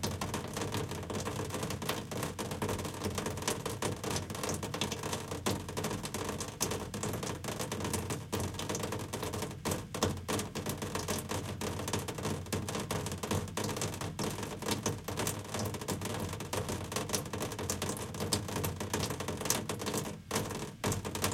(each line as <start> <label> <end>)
0.0 Rain on Sheet Metal 21.3